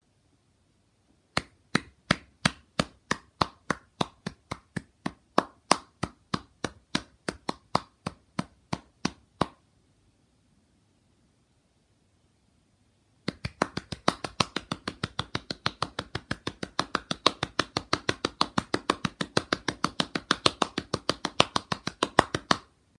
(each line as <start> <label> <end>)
1.4 Single person clapping 9.6
13.3 Single person clapping 22.7